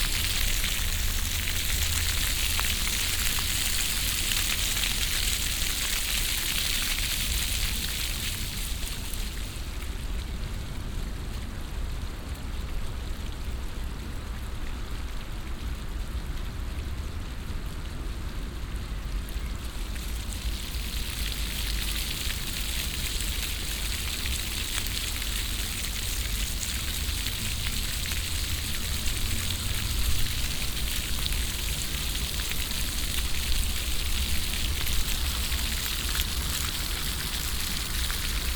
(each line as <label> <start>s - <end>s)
modern floor fountain, with intervall synchronisted water pumps 0.0s - 38.5s